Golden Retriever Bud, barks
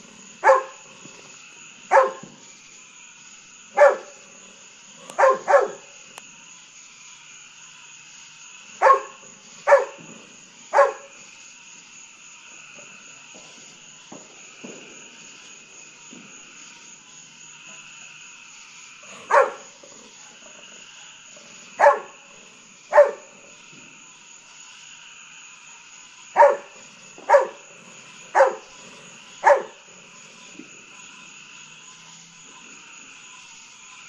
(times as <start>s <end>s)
0.4s 0.8s, 1.9s 2.3s, 3.8s 4.2s, 5.1s 5.8s, 8.8s 10.0s, 10.7s 11.1s, 19.2s 19.7s, 21.8s 22.2s, 22.9s 23.3s, 26.4s 27.6s, 28.4s 28.7s, 29.4s 29.8s